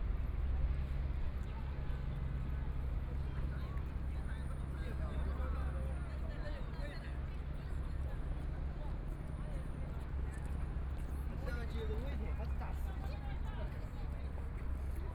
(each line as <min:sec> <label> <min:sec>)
0:00.0 Ship in the river 0:15.1